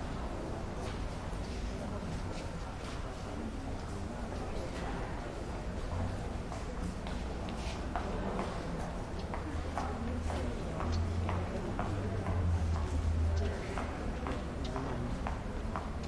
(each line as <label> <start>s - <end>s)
light crowd 0.0s - 16.0s